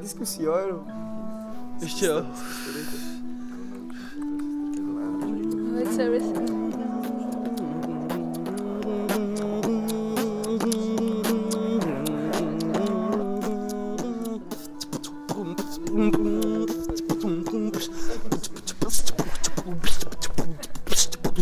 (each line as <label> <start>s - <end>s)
Beatbox 2.6s - 21.4s